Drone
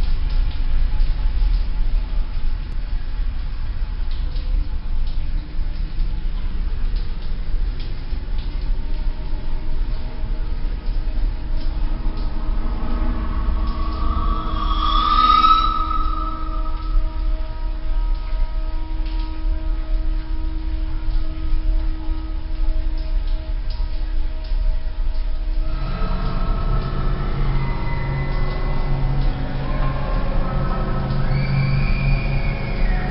0:11.1 0:19.9, 0:25.6 0:33.1

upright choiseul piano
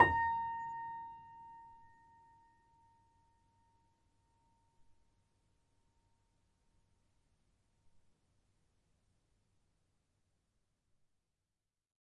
0:00.0 0:01.3

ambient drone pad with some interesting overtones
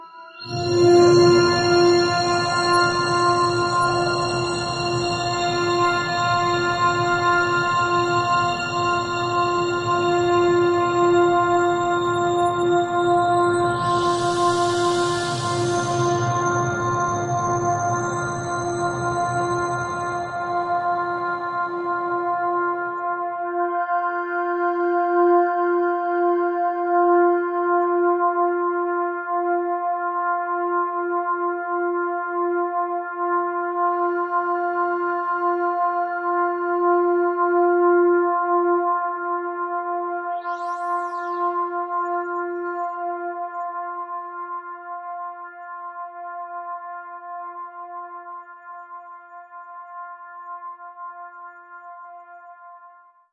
0:00.0 0:23.5, 0:39.9 0:44.4

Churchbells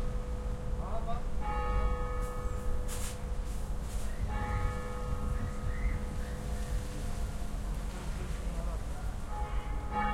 0:01.4 0:02.9, 0:04.2 0:05.4, 0:09.3 0:10.1

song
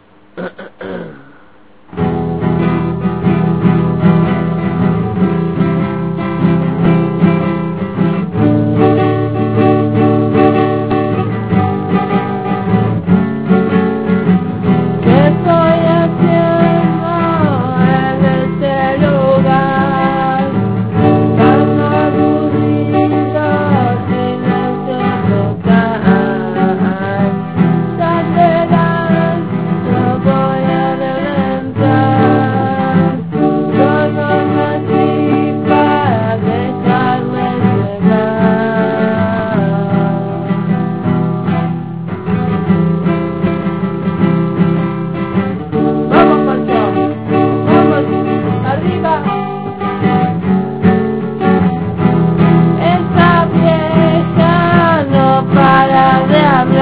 0:45.2 0:50.6

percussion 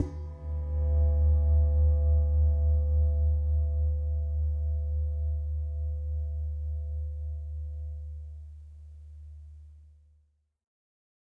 0:00.0 0:00.9

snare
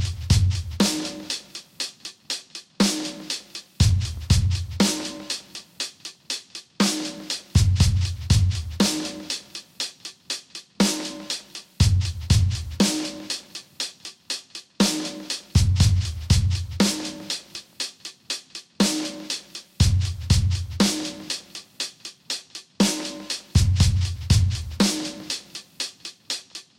0:00.8 0:03.7, 0:04.8 0:07.6, 0:08.8 0:11.7, 0:12.8 0:15.6, 0:16.8 0:19.7, 0:20.8 0:23.6, 0:24.7 0:26.7

